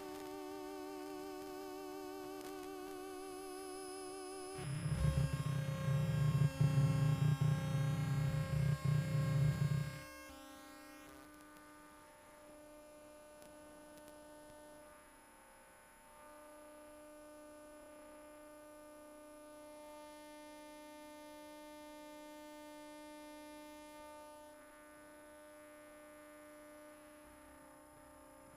electromagnetic waves 0:00.0 - 0:10.5

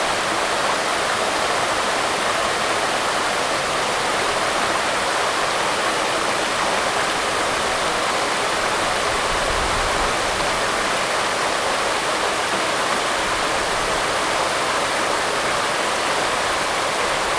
Waterfalls and Stream 0:00.0 - 0:17.3

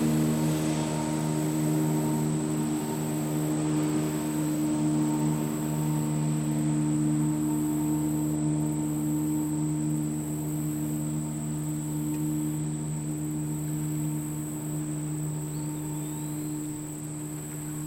Boat passing on river 0:00.0 - 0:17.8
Boat's wake on river bank 0:00.0 - 0:17.8
Insects 0:00.0 - 0:17.8
R/C plane overhead 0:00.0 - 0:17.8
birds 0:10.6 - 0:17.8

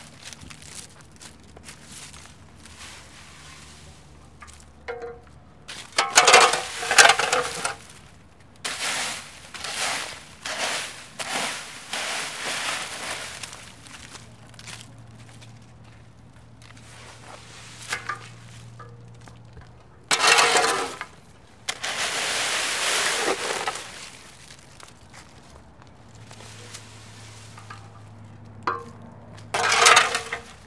Ramassage des feuilles mortes 0:00.0 - 0:30.6

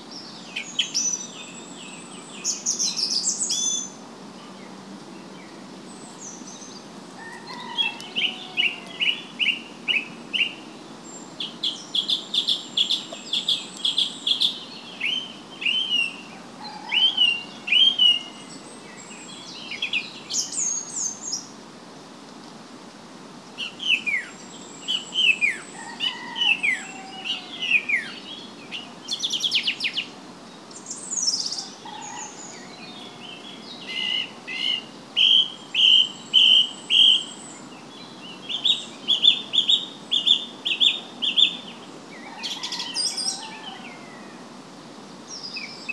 birds 0:00.0 - 0:21.5
birds 0:23.5 - 0:44.6

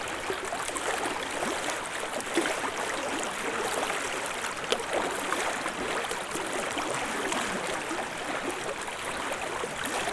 river shore 0:00.0 - 0:10.1

